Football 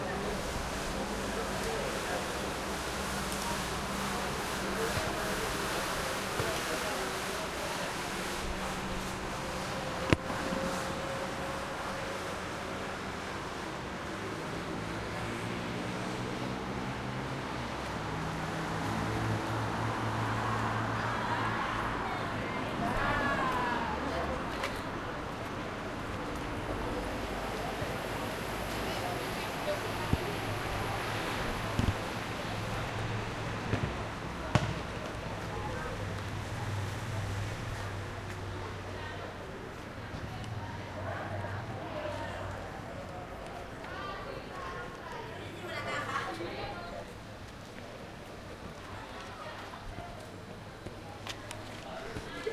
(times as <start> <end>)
33.7 35.2